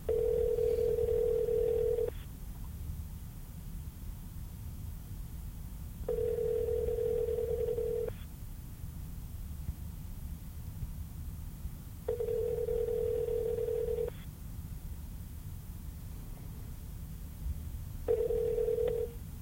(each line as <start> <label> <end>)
0.1 cell phone tone ringback 3 times 2.2
6.1 cell phone tone ringback 3 times 8.2
12.1 cell phone tone ringback 3 times 14.2
18.1 cell phone tone ringback 3 times 19.2